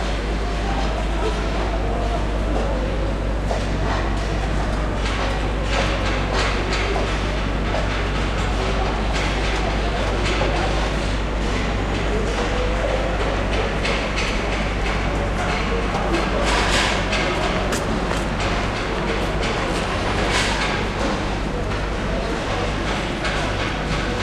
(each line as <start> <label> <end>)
0.0 machinery 24.2